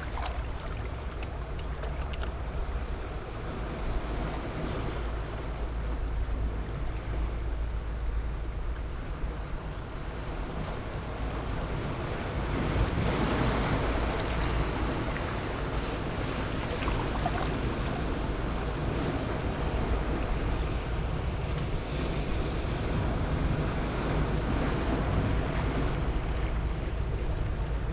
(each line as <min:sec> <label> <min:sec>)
0:00.0 waves 0:27.9